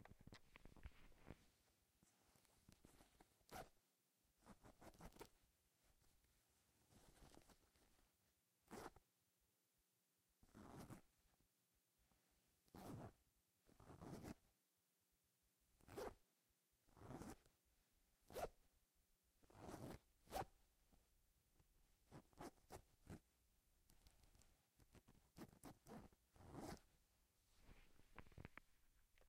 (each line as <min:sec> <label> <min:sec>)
0:08.7 Zipping And Unzipping Pants 0:08.9
0:10.5 Zipping And Unzipping Pants 0:11.0
0:12.8 Zipping And Unzipping Pants 0:13.1
0:13.8 Zipping And Unzipping Pants 0:14.4
0:15.9 Zipping And Unzipping Pants 0:16.1
0:17.0 Zipping And Unzipping Pants 0:17.4
0:19.5 Zipping And Unzipping Pants 0:20.4
0:25.0 Zipping And Unzipping Pants 0:26.8